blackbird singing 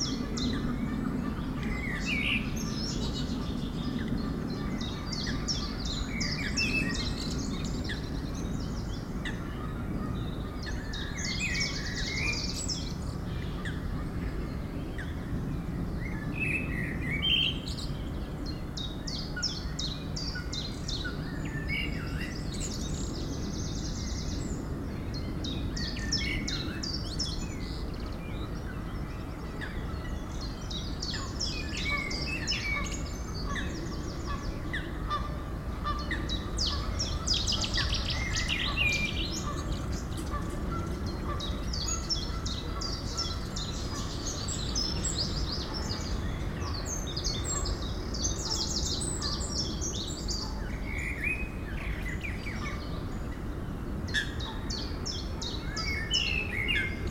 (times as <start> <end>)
16.0 53.4, 54.1 57.1